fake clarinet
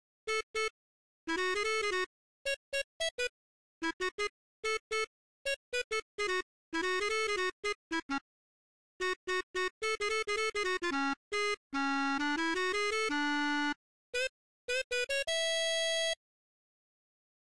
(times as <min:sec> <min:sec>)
0:09.0 0:16.2